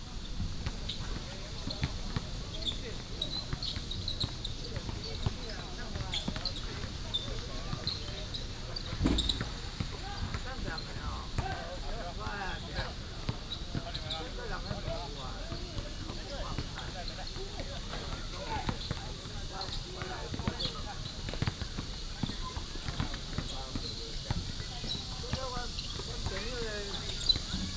0.3s play basketball 27.7s
8.8s Cicada 14.4s
20.6s Cicada 27.7s

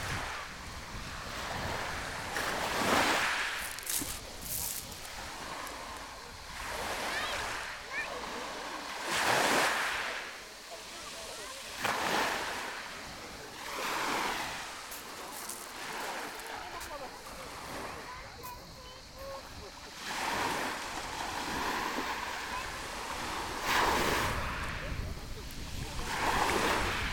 0.0s walking to the sea shore 27.1s
0.0s waves 27.1s
3.0s stones 5.8s
3.1s people 27.1s
14.9s stones 16.5s

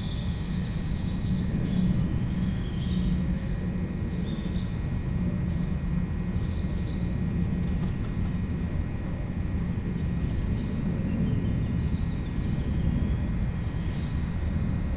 5.5s Birds 14.8s

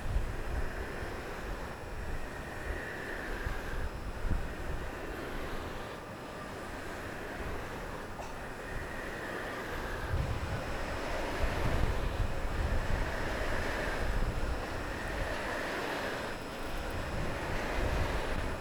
0.0s Wind Machine 18.6s

